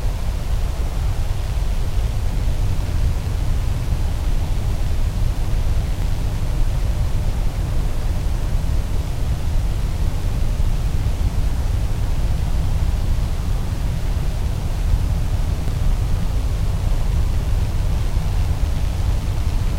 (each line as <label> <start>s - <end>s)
electric wires in high humidity 0.0s - 19.7s
wind 0.0s - 19.7s